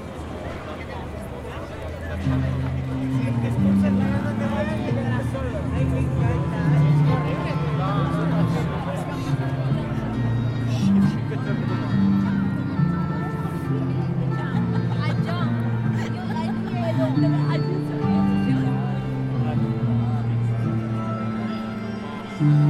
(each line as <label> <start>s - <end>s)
Persone in piazza 0.0s - 22.6s